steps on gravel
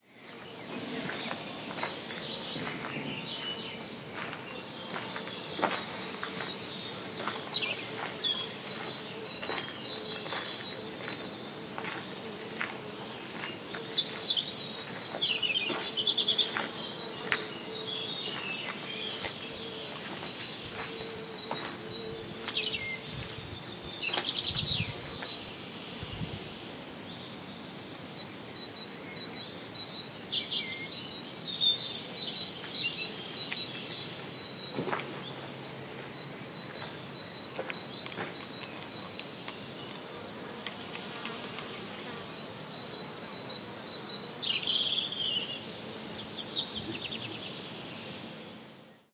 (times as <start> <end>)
0.7 17.6, 18.2 22.8, 36.7 41.8